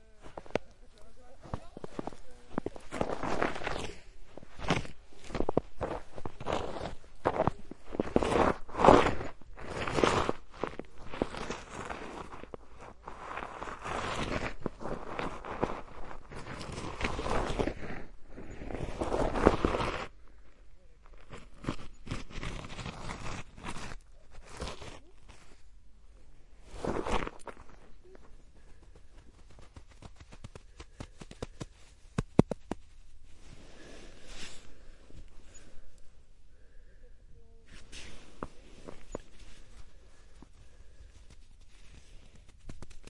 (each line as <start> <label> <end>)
0.0 Snow Movements 36.9
37.6 Snow Movements 43.0